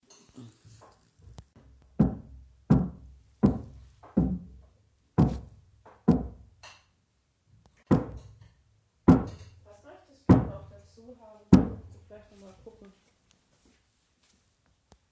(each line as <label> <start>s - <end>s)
hammering 1.6s - 6.9s
hammering 7.9s - 9.7s
hammering 10.3s - 10.7s
hammering 11.5s - 12.1s